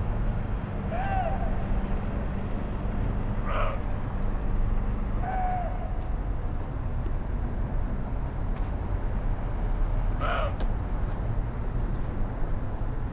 male deer barking and grunting 0:00.9 - 0:01.8
male deer barking and grunting 0:03.1 - 0:04.1
male deer barking and grunting 0:10.2 - 0:10.7

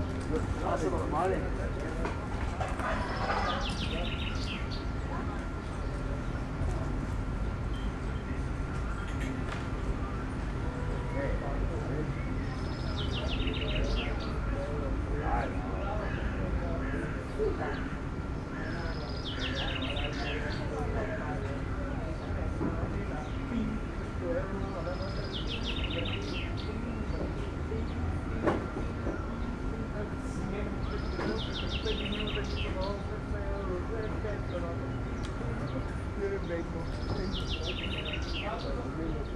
Birds 0:00.0 - 0:39.3
folk chatting 0:00.0 - 0:39.3

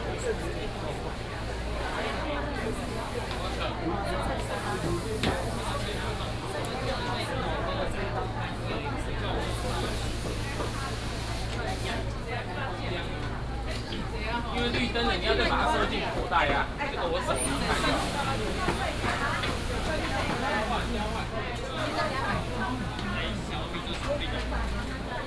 Walking through the Traditional Taiwanese Markets 0:00.0 - 0:25.2

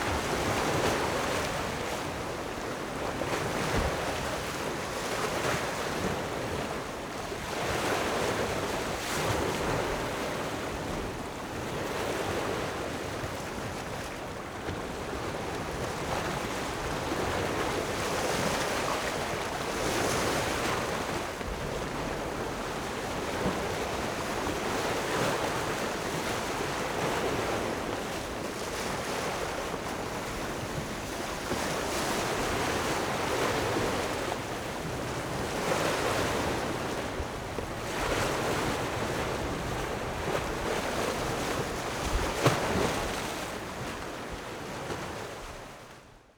the waves 0:00.0 - 0:46.1

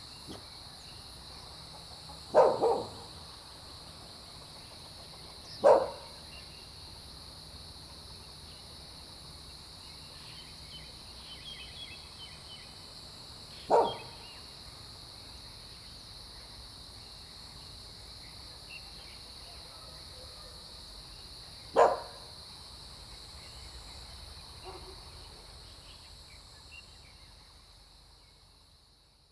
Dogs barking 0:02.3 - 0:03.2
Dogs barking 0:05.6 - 0:06.2
Bird calls 0:13.5 - 0:14.4
Dogs barking 0:13.7 - 0:14.2
Dogs barking 0:21.7 - 0:22.3
Dogs barking 0:24.6 - 0:25.0

